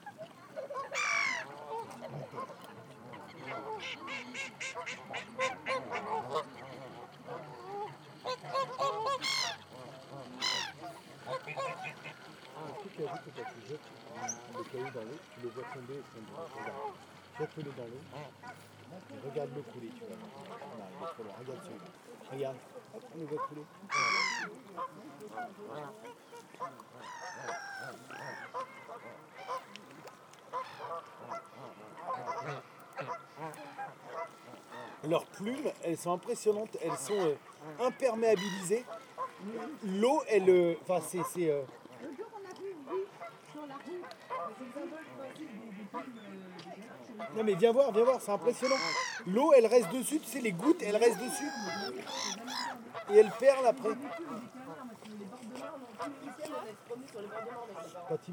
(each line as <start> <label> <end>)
0.0 Canada goose 58.3
0.0 Domestic goose 58.3
0.0 Blackhead gull 18.7
0.0 Mallard duck 58.3
23.2 Blackhead gull 35.7
36.3 Blackhead gull 40.0
45.7 Blackhead gull 54.6
48.6 Eurasian Coot 50.0
51.1 Eurasian Coot 53.4